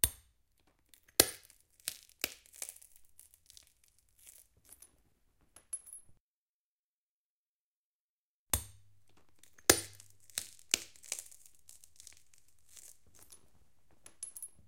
1.0s Crunching glass shards 4.8s
9.0s Crunching glass shards 14.4s
9.1s tiny shard falls off and bounces 14.6s

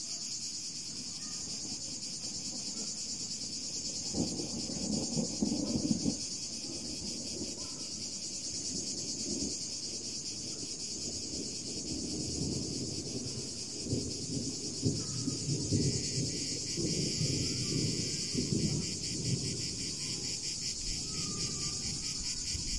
0.0s Cicadas 22.7s
1.1s Thunder 22.7s

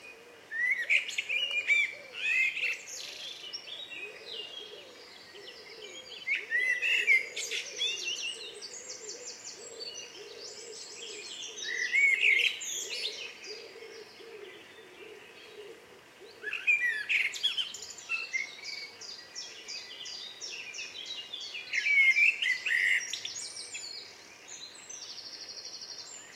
0.0s pheasant 20.8s
0.0s blackbird 26.3s

